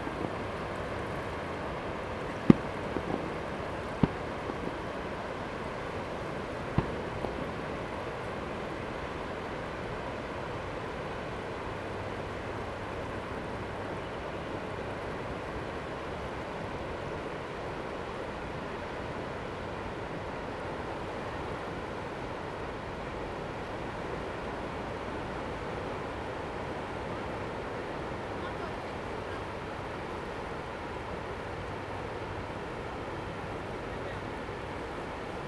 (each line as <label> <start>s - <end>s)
Fireworks sound 0.0s - 9.1s
waves 0.0s - 35.4s